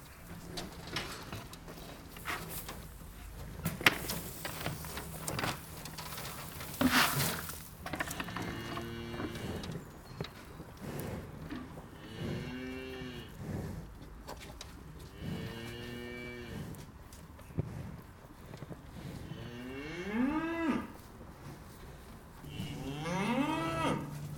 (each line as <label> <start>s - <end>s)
Cows are hungry as always 0.0s - 24.3s